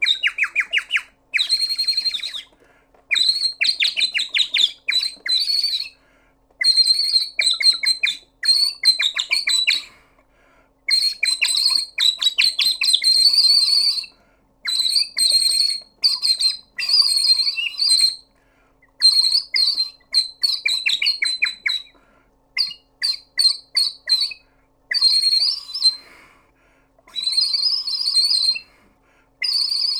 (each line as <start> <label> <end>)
0.0 cartoon bird whistle 2.5
29.4 cartoon bird whistle 29.9